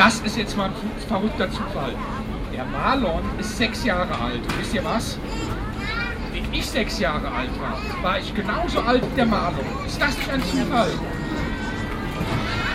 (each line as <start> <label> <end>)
9.2 children were too loud 12.7